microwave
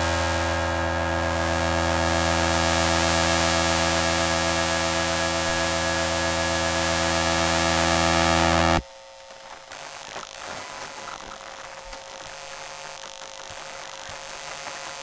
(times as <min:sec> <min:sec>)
0:00.0 0:09.9